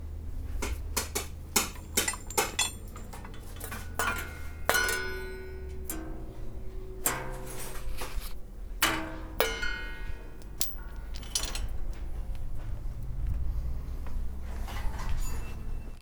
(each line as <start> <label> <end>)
0.0 Bangs 13.0
0.0 rattle 16.0
0.0 Clanks 16.0
0.0 Machines 16.0
0.4 Scrapes 16.0